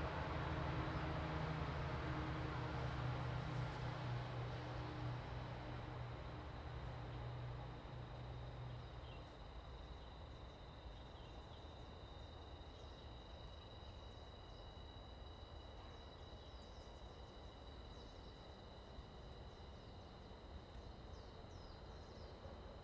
Traffic Sound 0.0 - 8.8
wind 0.0 - 22.8

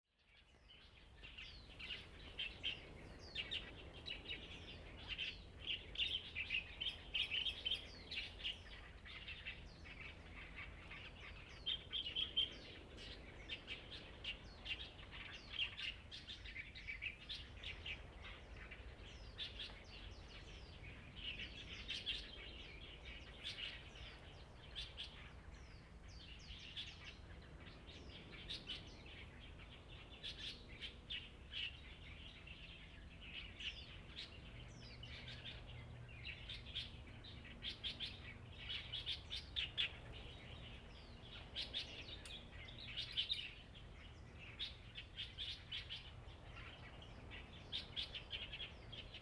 Birds singing 0.4 - 49.2

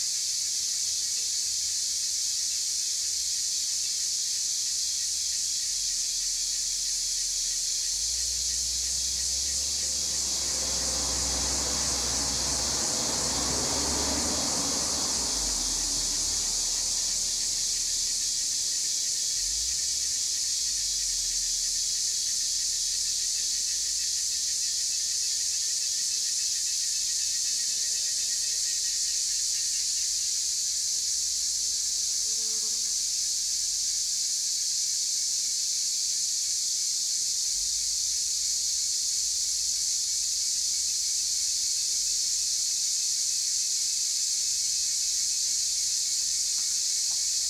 Cicada sounds 0.0 - 47.4
traffic sounds 8.0 - 20.0

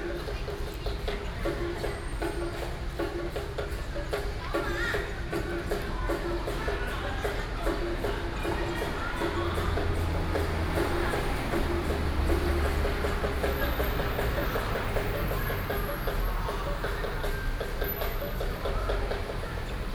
traditional musical instruments 5.3 - 19.9

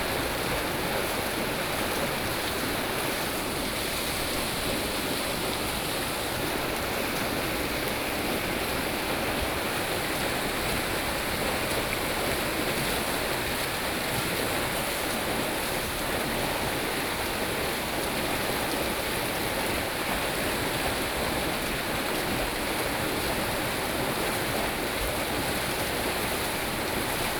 Waterwheel 0.0 - 27.3

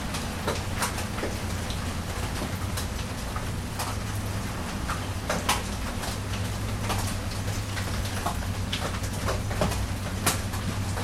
rain 0.0 - 11.0

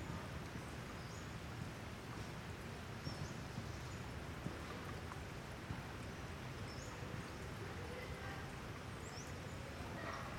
hikers 0.0 - 10.3

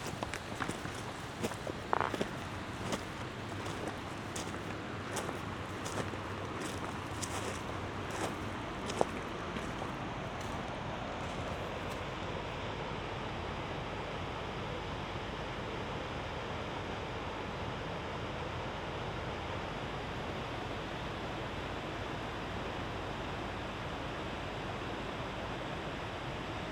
water of a little creek runs down in cascades 0.0 - 12.0
hum of the river power station 0.0 - 26.7

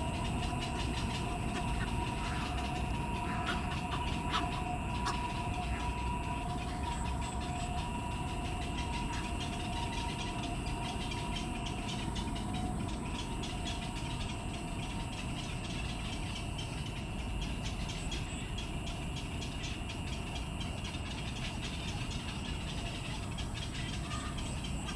traffic 0.0 - 10.6
Bird sounds 0.0 - 24.9

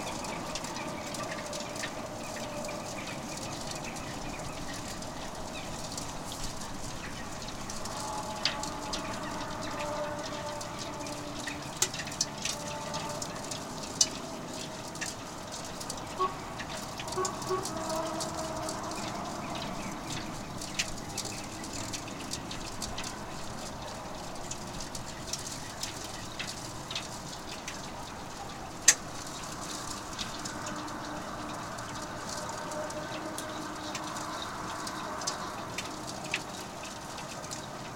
waves are playing with tiny ice on the lake 0.0 - 37.9
wind 0.0 - 37.9

